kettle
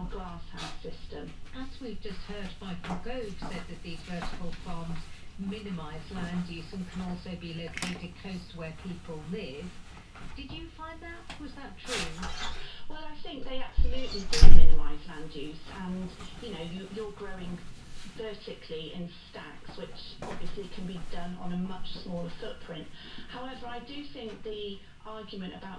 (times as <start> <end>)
6.7 10.4